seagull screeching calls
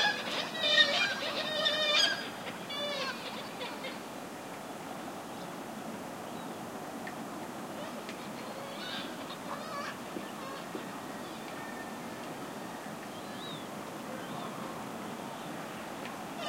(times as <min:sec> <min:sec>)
0:00.0 0:04.0, 0:08.2 0:11.9